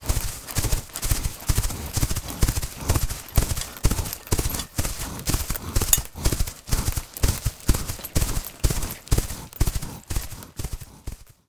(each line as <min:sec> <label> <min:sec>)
0:00.0 Horse Galloping 0:11.4